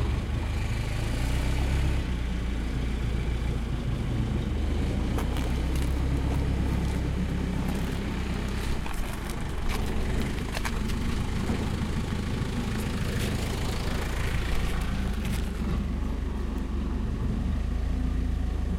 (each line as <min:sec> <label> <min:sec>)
0:00.0 forklift 0:18.7
0:00.0 tractor 0:18.7
0:05.0 loading truck with blackcurrant 0:12.1